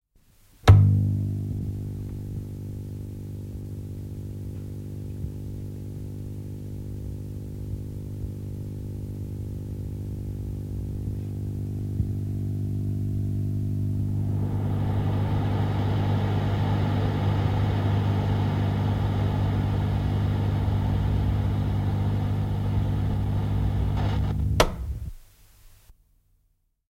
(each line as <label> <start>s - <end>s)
noise 0.0s - 26.7s
humming 9.5s - 25.2s
Old radio, switch on 14.0s - 25.2s